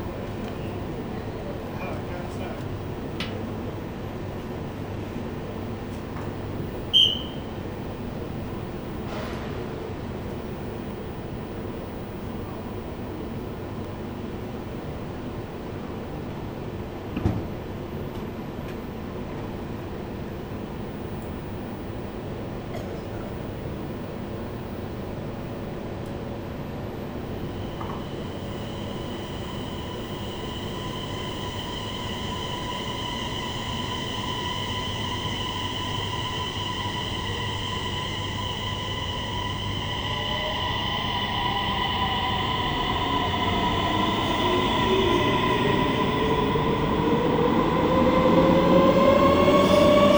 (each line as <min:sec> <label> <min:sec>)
0:00.0 train rides into a tunnel 0:50.1